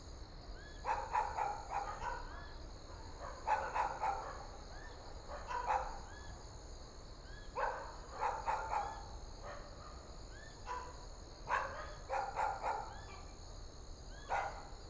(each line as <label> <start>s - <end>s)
Dogs barking 3.3s - 4.4s
Dogs barking 7.6s - 9.6s
Dogs barking 11.5s - 13.0s
Dogs barking 14.3s - 14.7s